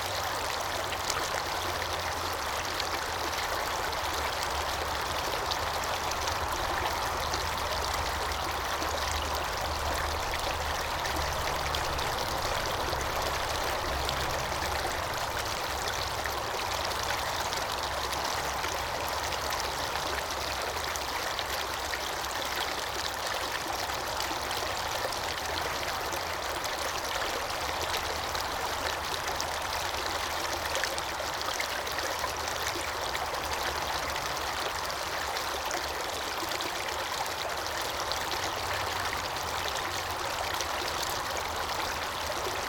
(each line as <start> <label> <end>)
0.0 stream of traffic 42.6
0.0 stream running through the Glen of the Downs 42.6